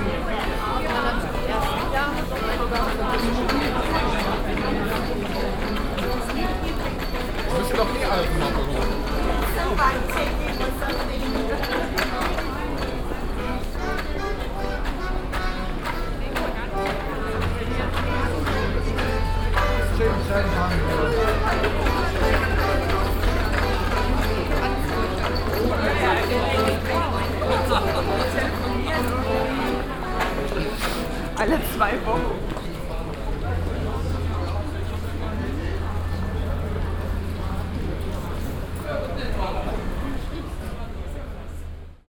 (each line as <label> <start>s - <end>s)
puppenspieler mit akkordeon 0.0s - 32.6s
people 0.0s - 42.0s